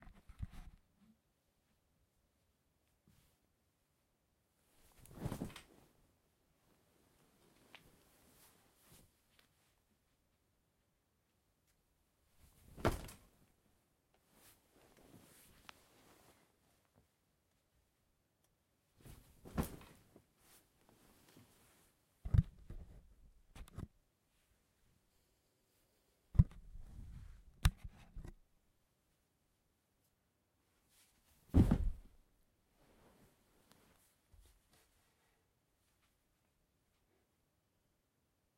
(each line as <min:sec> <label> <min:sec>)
0:31.5 Body Fall Drop Sit Down on Sofa Bed 0:32.1